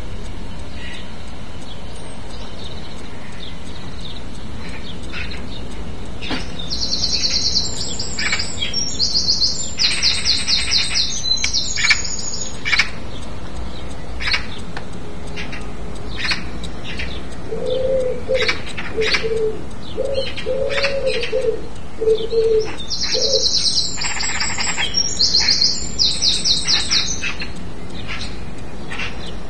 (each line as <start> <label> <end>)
0.0 Wren singing it's heart out 29.4
2.6 Magpies 14.6
15.3 Magpies 29.4